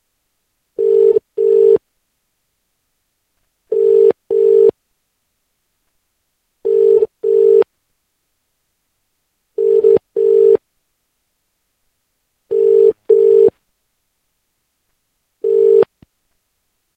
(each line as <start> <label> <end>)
12.5 British call tone 13.5
15.4 British call tone 15.9